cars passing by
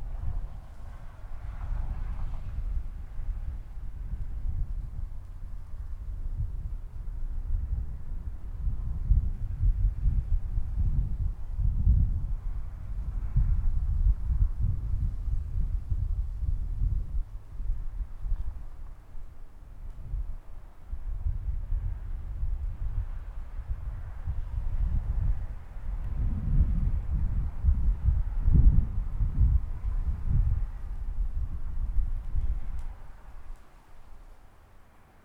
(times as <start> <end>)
0.0 10.8, 20.4 35.2